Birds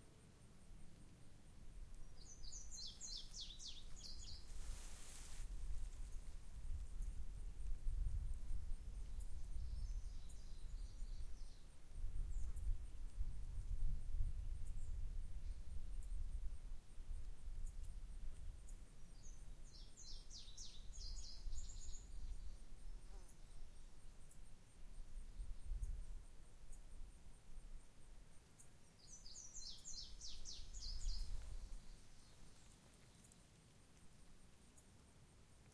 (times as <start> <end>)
1.9 5.3, 18.7 24.5, 28.3 33.7